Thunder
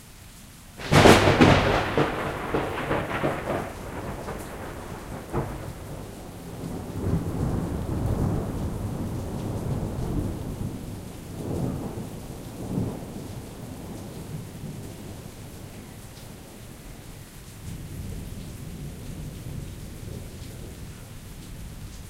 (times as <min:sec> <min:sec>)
0:00.8 0:15.3